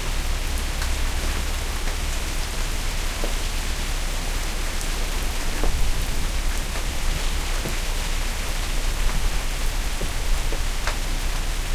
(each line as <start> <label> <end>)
0.0 light rain 11.7